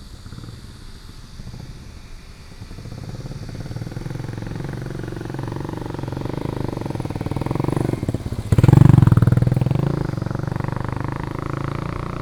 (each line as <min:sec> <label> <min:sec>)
0:00.0 Traffic Sound 0:12.2
0:03.6 walking on the Road 0:12.2